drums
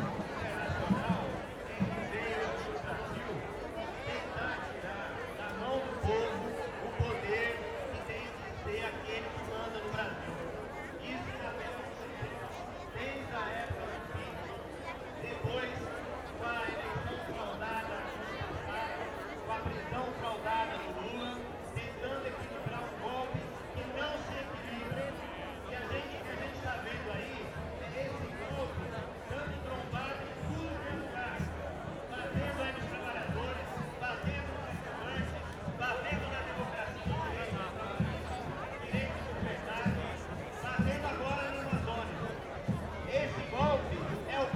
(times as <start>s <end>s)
0.0s 4.8s, 26.0s 44.5s